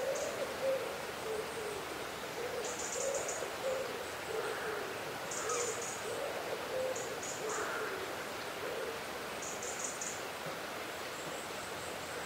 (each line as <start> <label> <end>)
0.0 river 12.2